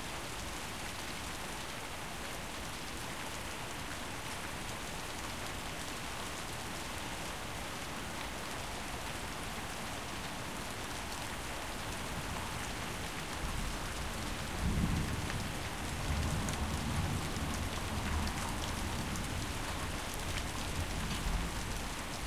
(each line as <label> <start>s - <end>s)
Rain 0.0s - 22.2s